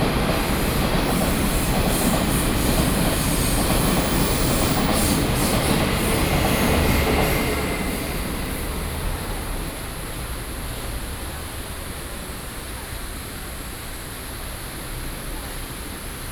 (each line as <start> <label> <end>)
0.0 Traveling by train 16.3